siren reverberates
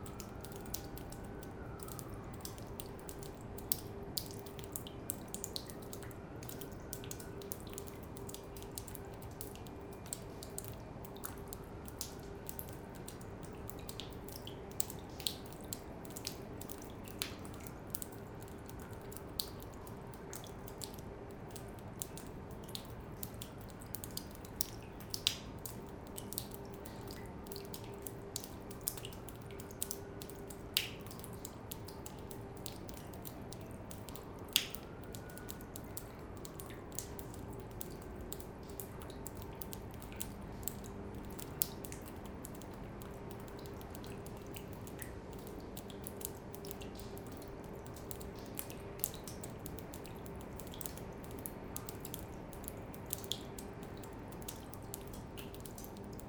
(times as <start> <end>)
0.1 2.8